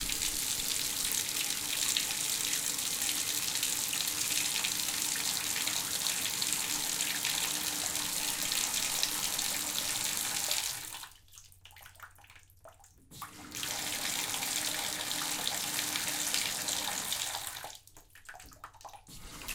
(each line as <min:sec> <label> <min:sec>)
0:00.0 Running water in the bathtub 0:19.5